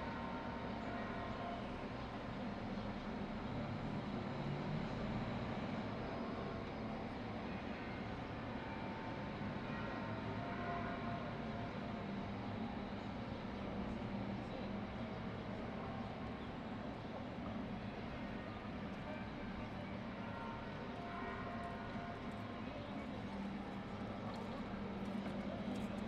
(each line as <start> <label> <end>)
18.2 Noontide Bells 26.0